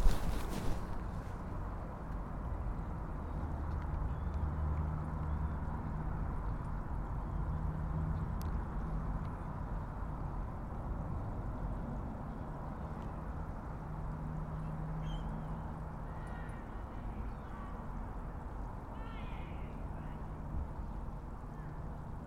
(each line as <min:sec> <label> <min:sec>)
0:06.7 Train 0:22.2